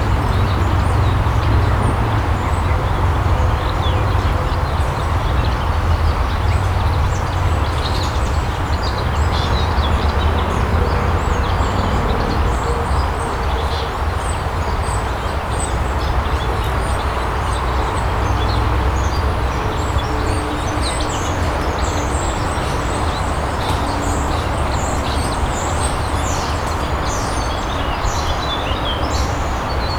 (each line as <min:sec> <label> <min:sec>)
0:00.0 bird sound 0:29.9